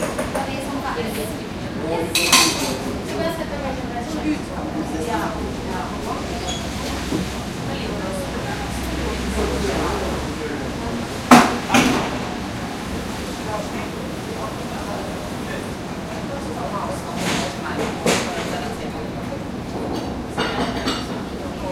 people talking 0:00.0 - 0:21.7
traffic on wet road 0:04.8 - 0:18.8

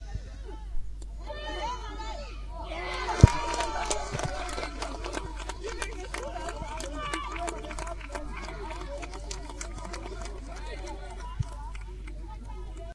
applauding goal01 0:02.6 - 0:12.9

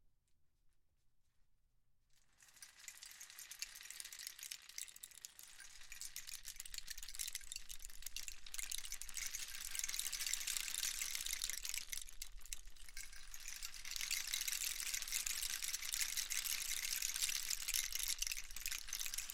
Rain stick 08 long pour 0:02.3 - 0:19.3

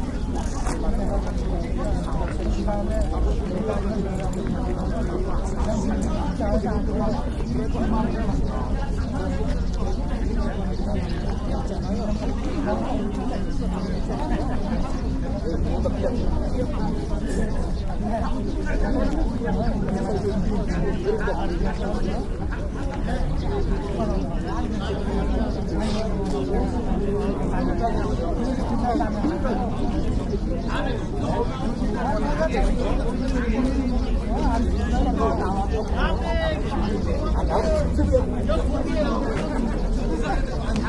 Many -tourist guides- wait and talk 0:00.0 - 0:40.8

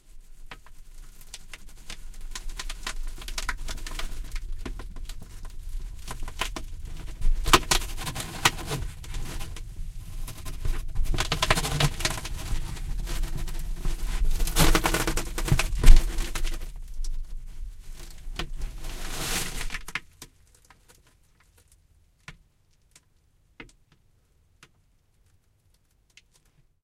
various rustling sounds 0:00.2 - 0:20.1

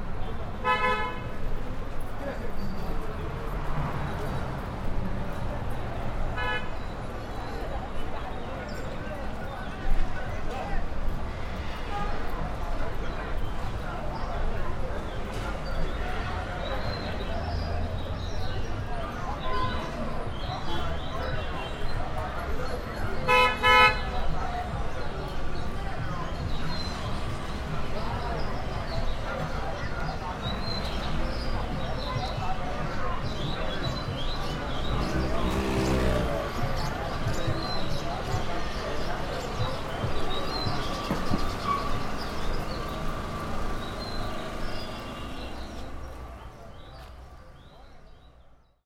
little traffic 0:00.0 - 0:48.8
horns 0:00.6 - 0:01.3
coffee sellers 0:11.8 - 0:48.4
horns 0:23.2 - 0:24.2

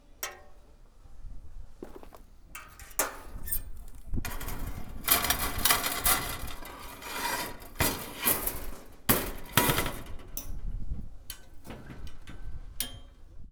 Scrapes 0:01.8 - 0:10.3
Clanks 0:04.2 - 0:10.7
rattle 0:04.3 - 0:10.2

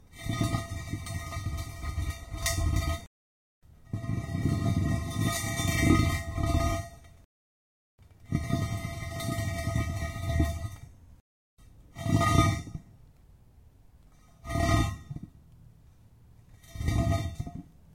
Heavy steel pipe dragged along the concrete 0:00.0 - 0:03.1
Heavy steel pipe dragged along the concrete 0:03.7 - 0:07.3
Heavy steel pipe dragged along the concrete 0:08.2 - 0:13.0
Heavy steel pipe dragged along the concrete 0:14.0 - 0:15.4
Heavy steel pipe dragged along the concrete 0:16.4 - 0:17.9

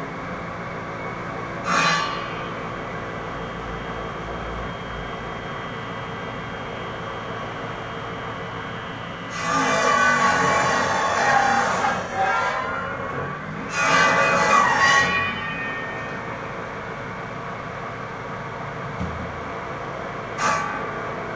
saw 0:01.6 - 0:03.2
saw 0:09.2 - 0:16.8
saw 0:20.3 - 0:21.3

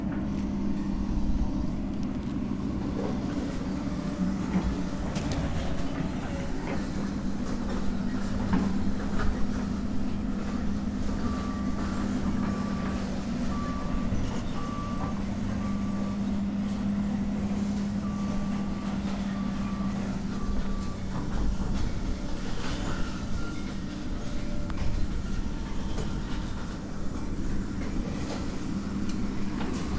Machines 0:00.0 - 0:29.9

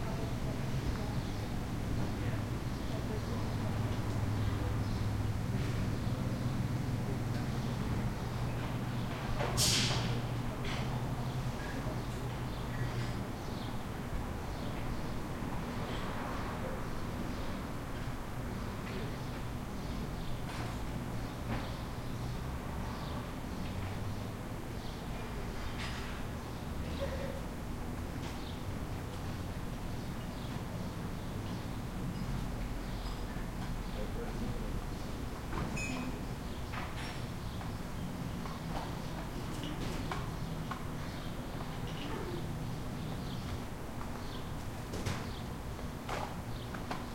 people activity 0:00.0 - 0:47.1

